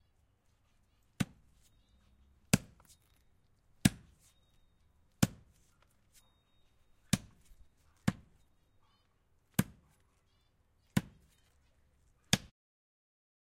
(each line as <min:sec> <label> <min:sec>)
0:01.2 axe cutting on wood 0:01.5
0:02.5 axe cutting on wood 0:03.2
0:03.8 axe cutting on wood 0:04.4
0:05.1 axe cutting on wood 0:05.9
0:07.1 axe cutting on wood 0:08.4
0:09.5 axe cutting on wood 0:10.0
0:10.8 axe cutting on wood 0:11.4